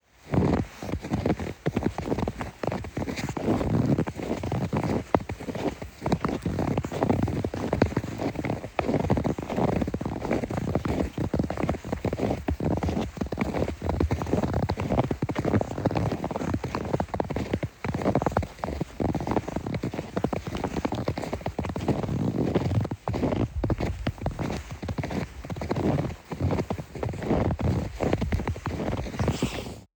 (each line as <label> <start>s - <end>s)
two people walking through a thick layer of snow 0.1s - 29.9s